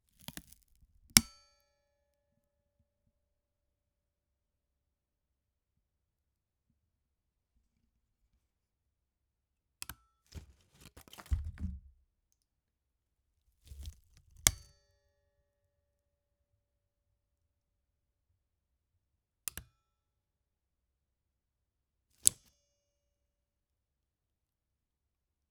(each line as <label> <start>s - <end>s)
locking pliers (Cardboard bite and release 2x) 0.2s - 0.8s
locking pliers (Cardboard bite and release 2x) 13.7s - 14.6s